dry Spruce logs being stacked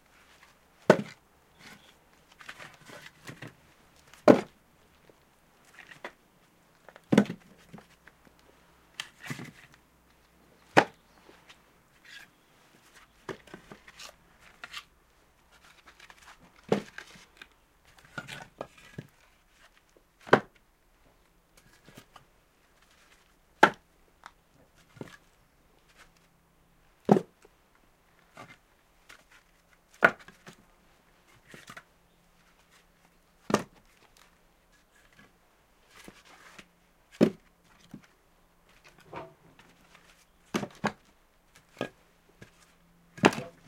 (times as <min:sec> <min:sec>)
0:00.3 0:08.2, 0:08.9 0:09.8, 0:10.6 0:14.9, 0:15.5 0:20.6, 0:22.8 0:25.3, 0:27.0 0:27.5, 0:28.2 0:30.6, 0:31.3 0:32.8, 0:33.4 0:35.3, 0:35.9 0:38.1, 0:38.7 0:43.6